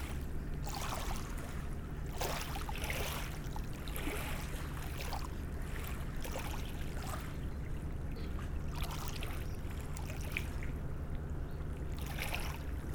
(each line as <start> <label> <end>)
0.0 tourist boat is passing by on the Seine river 12.9